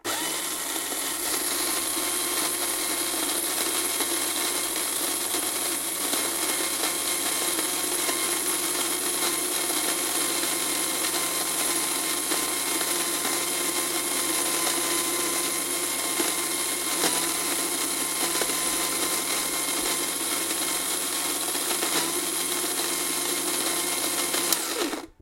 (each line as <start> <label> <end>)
0.0 Mixing some eggs and sugar with a handheld mixer 25.2